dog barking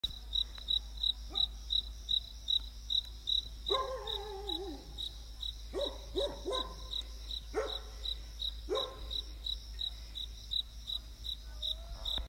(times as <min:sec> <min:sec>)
0:01.3 0:01.6, 0:03.7 0:04.9, 0:05.7 0:06.9, 0:07.5 0:08.0, 0:08.7 0:09.2